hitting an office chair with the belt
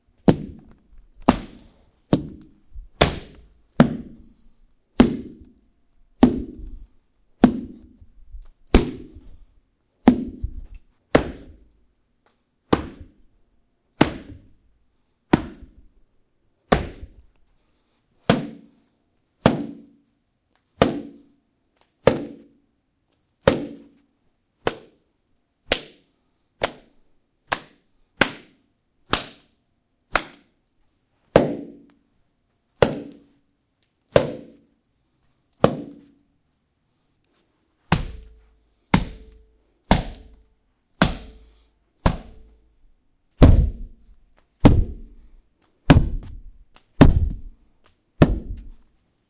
0:00.2 0:04.3, 0:08.7 0:09.3, 0:14.0 0:14.6, 0:16.7 0:17.3, 0:19.4 0:19.9, 0:32.8 0:33.3, 0:35.6 0:36.2, 0:37.9 0:40.4, 0:45.9 0:47.6, 0:48.2 0:48.8

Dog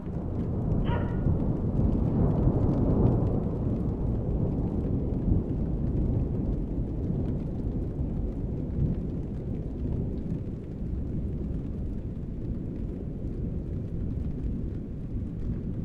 0:00.8 0:01.4

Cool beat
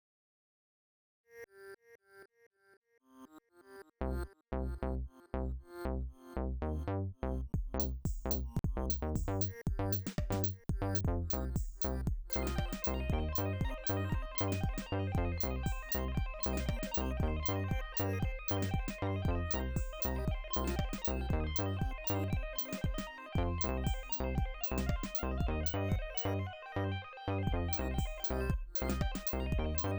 0:07.6 0:26.4, 0:27.5 0:29.9

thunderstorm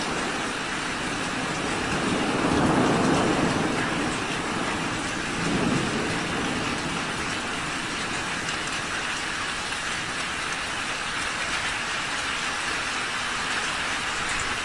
0:00.0 0:10.4

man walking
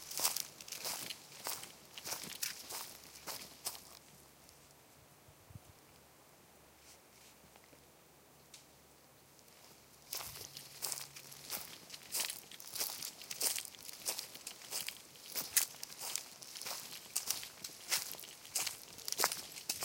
0:00.0 0:04.0, 0:09.5 0:19.8

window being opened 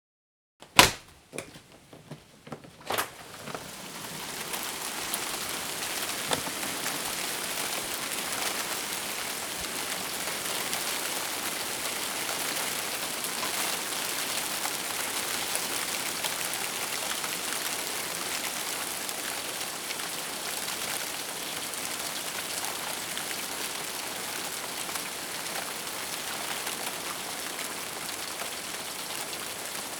0:00.6 0:07.2

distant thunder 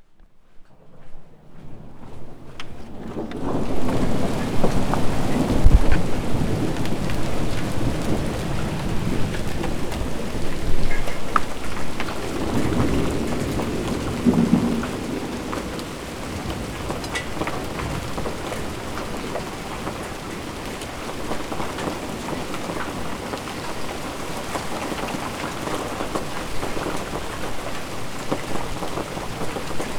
0:01.4 0:23.8

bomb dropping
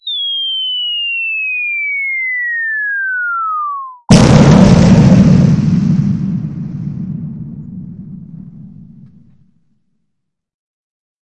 0:04.1 0:09.6

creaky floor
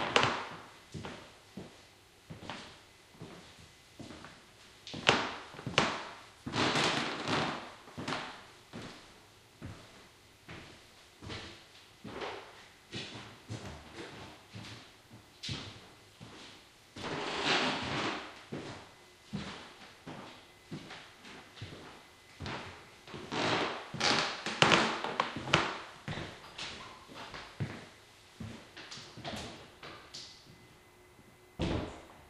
0:04.9 0:09.0, 0:10.6 0:14.8, 0:15.4 0:28.6

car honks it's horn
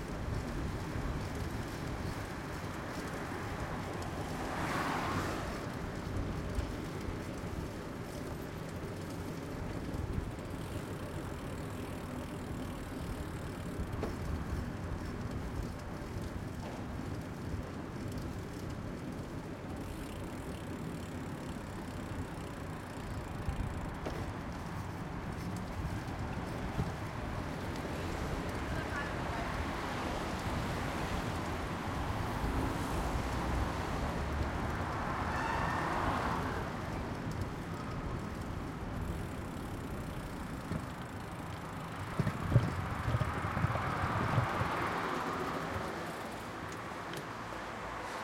0:35.3 0:36.0

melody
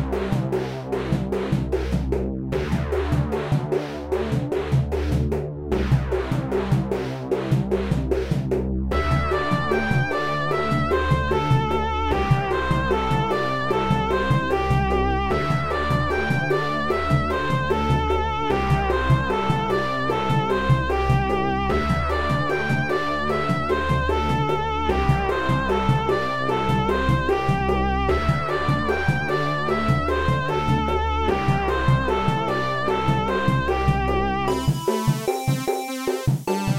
0:08.9 0:36.7

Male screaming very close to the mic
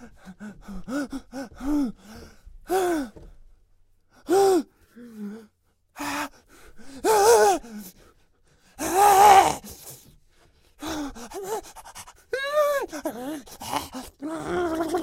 0:08.8 0:09.8, 0:12.3 0:15.0

